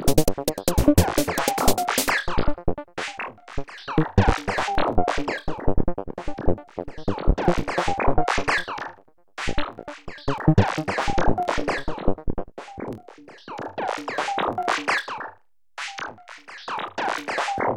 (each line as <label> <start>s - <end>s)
bass 0.0s - 2.9s
synthesizer 0.0s - 15.1s
bass 4.0s - 8.7s
bass 9.5s - 12.5s
snare 15.8s - 17.7s